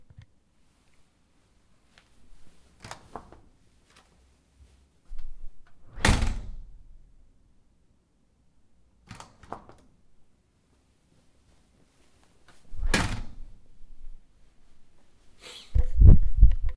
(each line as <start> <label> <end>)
2.8 Door opening and closing 4.1
5.1 Door opening and closing 6.8
9.0 Door opening and closing 9.9
12.6 Door opening and closing 13.6